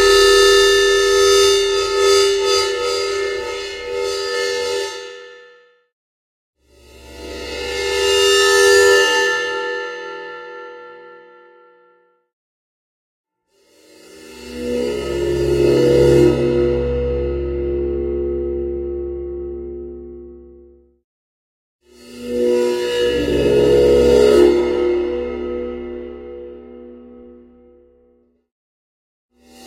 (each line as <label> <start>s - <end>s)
cymbal-played-with-bow-sounds 0.0s - 5.1s